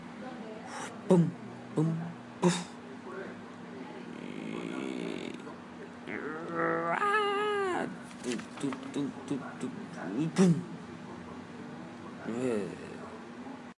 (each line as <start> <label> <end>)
0.2 speaking 13.7
0.8 sounds with mouth 2.8